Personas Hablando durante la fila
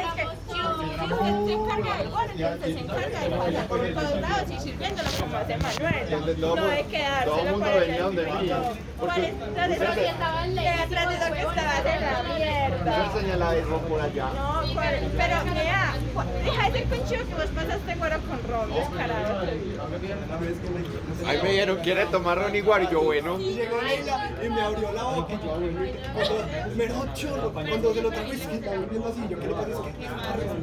0.0 20.0

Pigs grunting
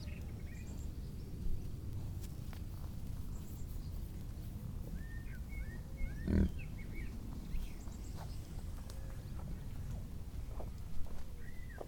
6.2 6.6

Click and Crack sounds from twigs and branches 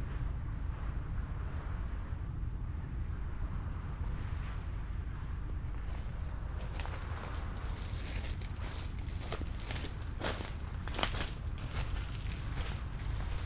7.8 13.2

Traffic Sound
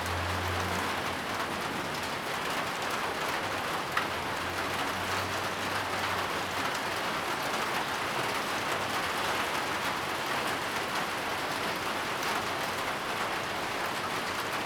0.0 8.1

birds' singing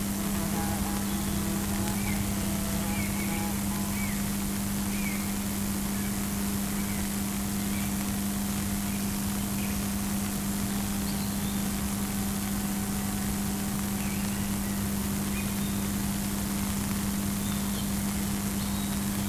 0.0 8.0, 10.8 12.5, 13.8 16.0, 17.3 19.2

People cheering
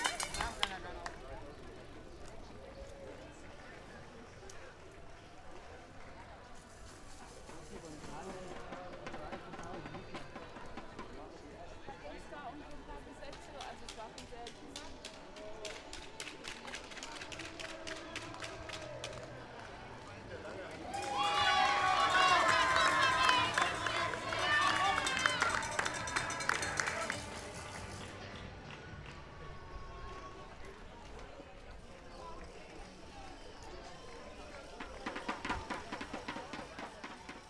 15.4 37.4

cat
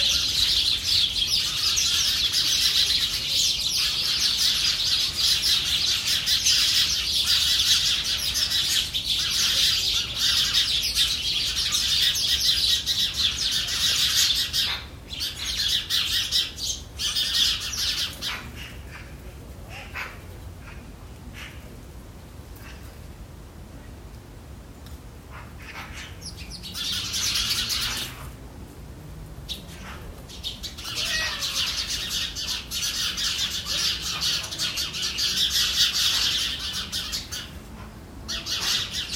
30.8 32.0

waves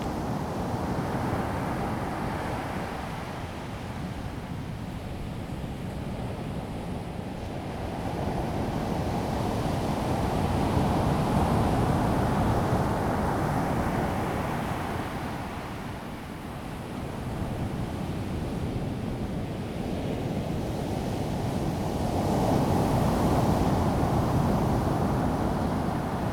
9.4 26.3

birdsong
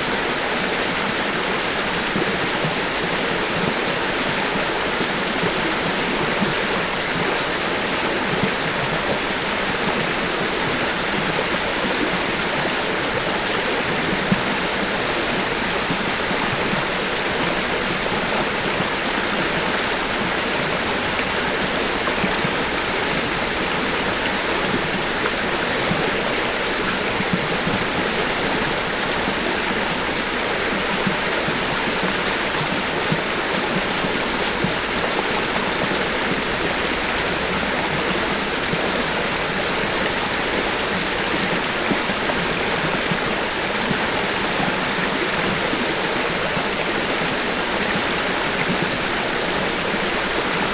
26.8 42.1

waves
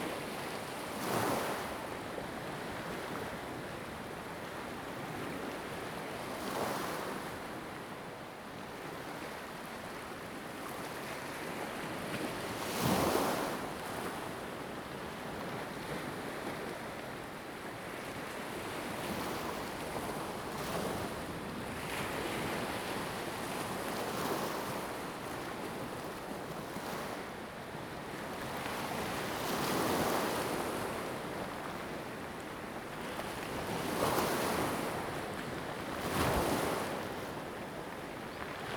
15.1 38.7

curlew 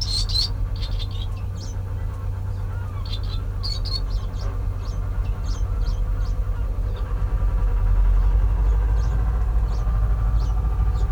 0.0 7.2

